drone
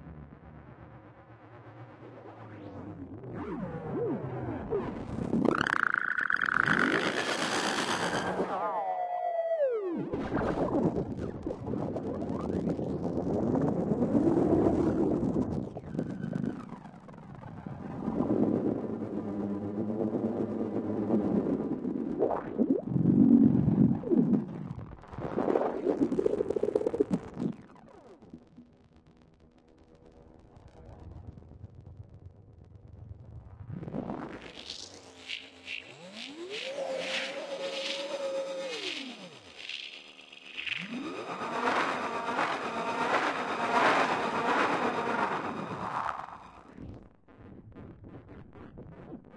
0:01.7 0:12.8, 0:34.1 0:47.0

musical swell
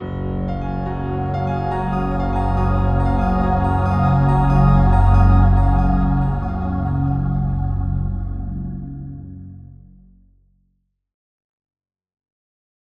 0:00.0 0:09.4

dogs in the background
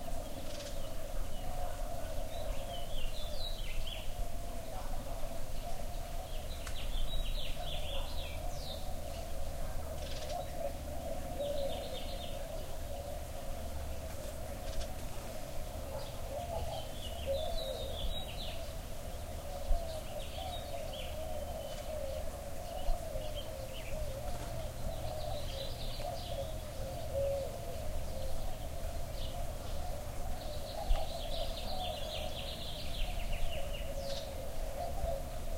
0:15.8 0:17.0

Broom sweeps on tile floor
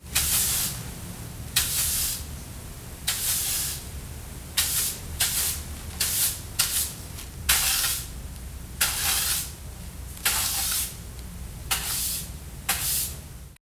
0:00.1 0:00.9, 0:01.6 0:02.3, 0:03.1 0:03.9, 0:04.6 0:08.1, 0:08.8 0:09.6, 0:10.2 0:11.0, 0:11.7 0:13.2

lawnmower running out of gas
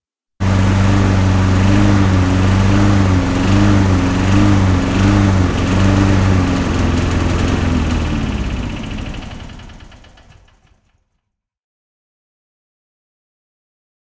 0:00.4 0:11.0

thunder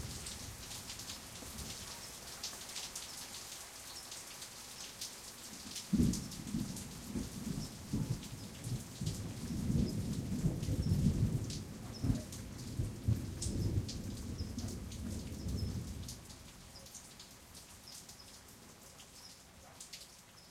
0:05.9 0:16.0

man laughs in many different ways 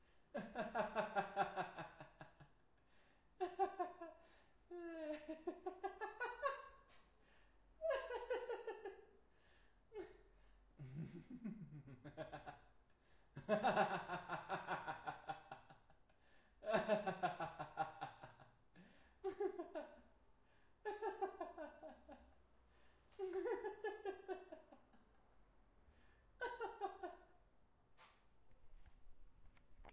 0:00.3 0:02.6, 0:03.4 0:07.0, 0:07.8 0:09.2, 0:09.9 0:25.1, 0:26.0 0:27.4

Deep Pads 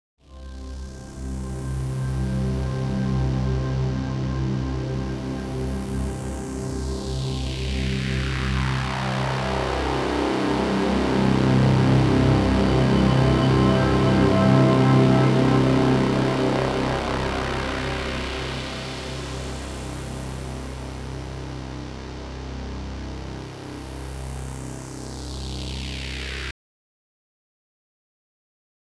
0:08.9 0:23.8

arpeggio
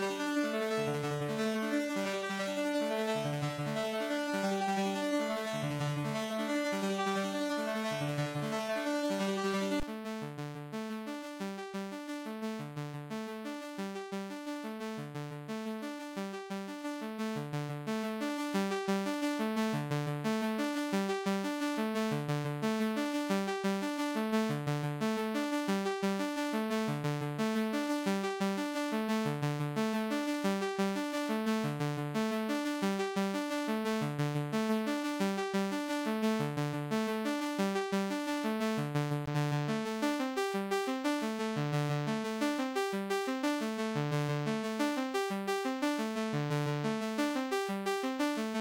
0:00.0 0:09.8

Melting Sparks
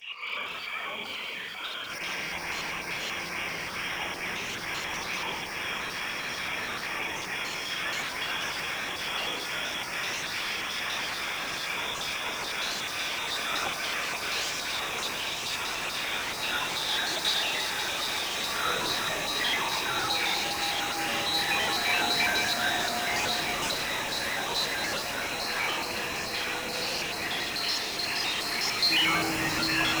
0:14.8 0:30.0

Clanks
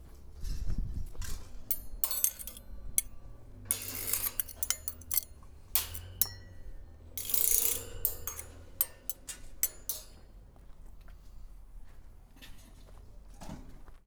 0:01.0 0:11.3

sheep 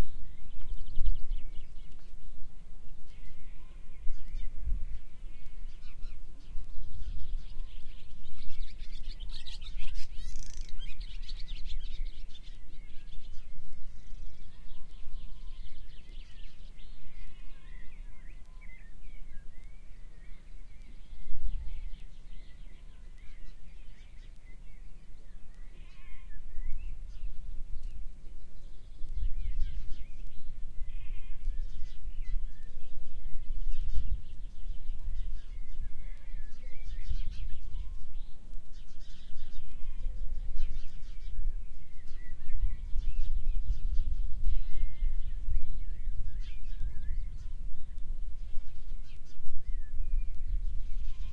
0:25.6 0:26.4

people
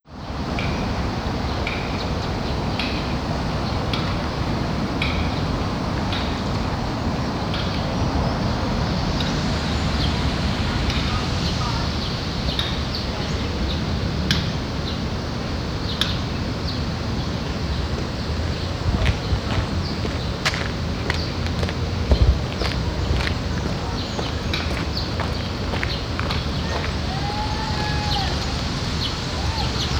0:21.2 0:29.9

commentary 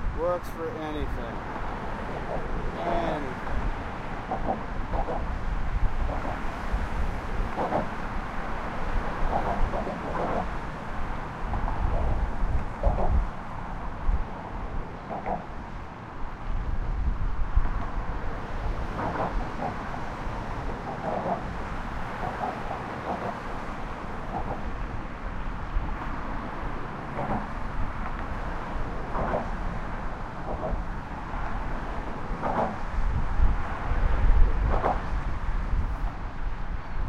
0:00.2 0:01.4, 0:02.7 0:03.4

